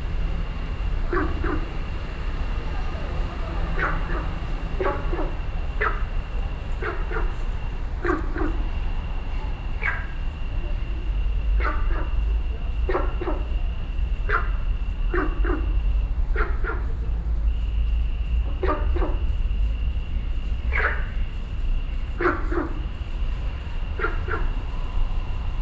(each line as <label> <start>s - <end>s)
Frogs calling 0.0s - 17.6s
Frogs calling 22.1s - 25.6s